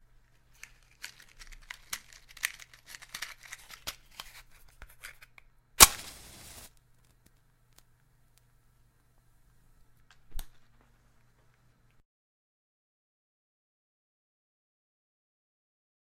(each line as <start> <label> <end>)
5.8 Lighting a match 7.9